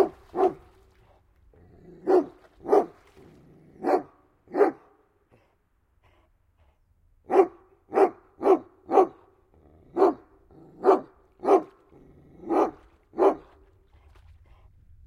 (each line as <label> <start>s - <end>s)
Dog barking 0.0s - 0.6s
Dog barking 2.0s - 3.0s
Dog barking 3.8s - 4.9s
Dog barking 7.3s - 9.2s
Dog barking 9.9s - 10.2s
Dog barking 10.8s - 11.8s
Dog barking 12.4s - 13.5s